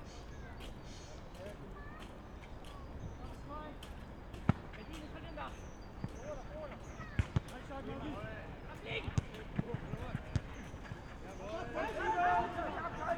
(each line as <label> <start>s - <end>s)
soccer game 6.0s - 13.1s